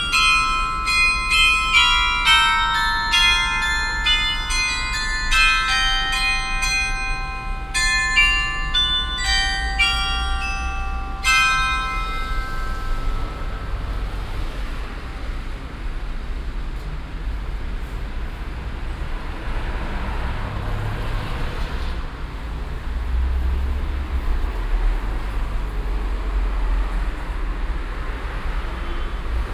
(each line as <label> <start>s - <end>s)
traditionelles glockenspiel 0.0s - 14.8s